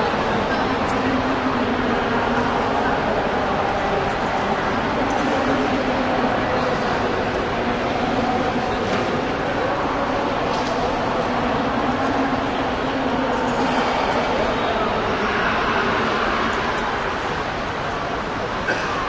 huge wash of voices and activity 0:00.0 - 0:19.0

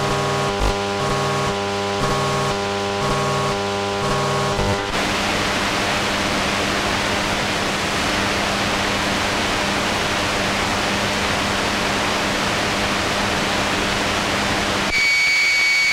distorted busy signal 0:00.0 - 0:04.9
distorted dial tone 0:00.0 - 0:04.9
Electro-magnetic interference from a desktop computer 0:00.0 - 0:13.8
hum 0:00.0 - 0:15.9
Electro-magnetic interference from a desktop computer 0:14.8 - 0:15.9
distorted busy signal 0:14.9 - 0:15.9
distorted dial tone 0:14.9 - 0:15.9
series of nearly pure tones 0:14.9 - 0:15.9

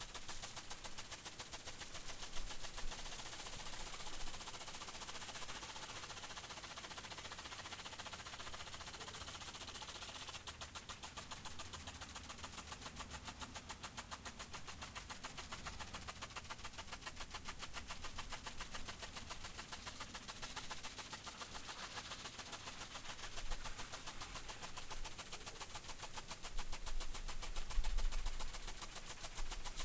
rotating sprinkler 0:00.0 - 0:29.8

